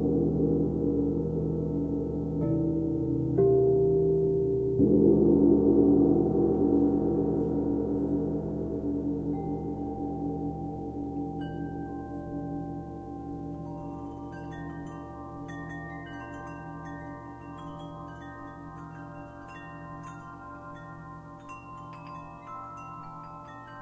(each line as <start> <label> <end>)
0.0 crystal singing bowls 23.8
0.0 gong 23.8